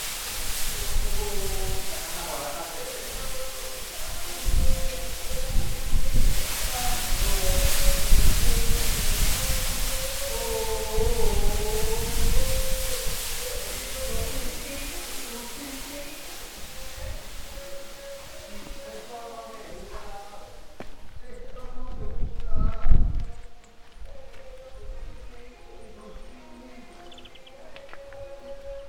0.0s operarios cantando 28.8s
0.7s radio 22.0s

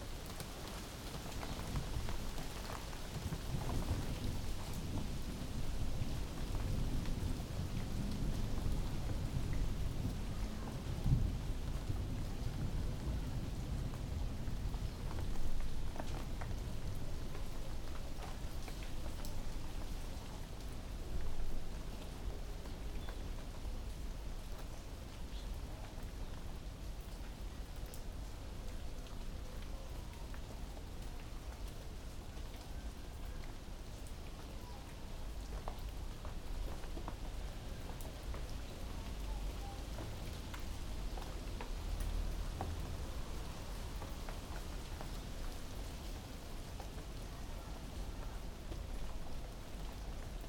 0.0s Heavy rain 50.4s

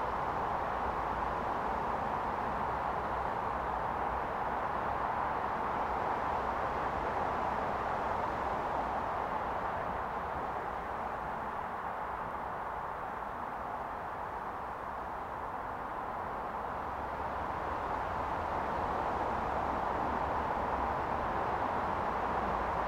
0.0s traffic on the main road 22.8s

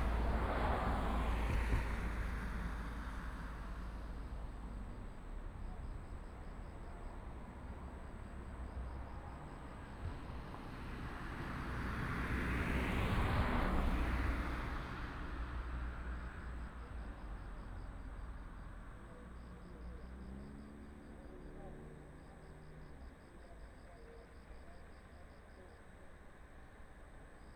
0.0s Traffic sound 27.5s

